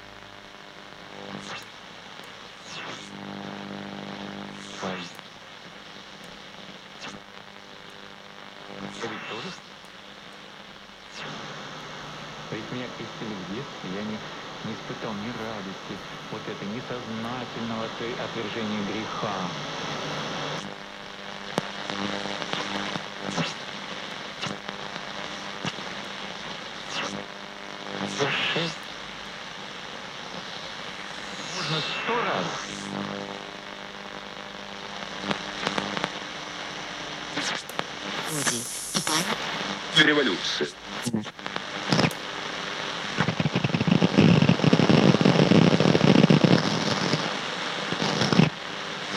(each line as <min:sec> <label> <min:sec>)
0:00.0 Old Radio Tuning Wave 0:49.1
0:00.0 white noise 0:49.1